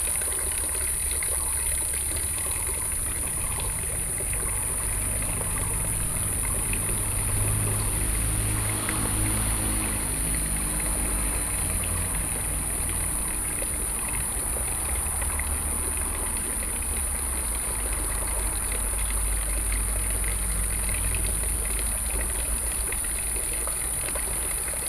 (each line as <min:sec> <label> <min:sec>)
0:00.0 Cicadas cry 0:24.8
0:00.0 Fountain 0:24.8
0:00.0 Traffic Sound 0:24.8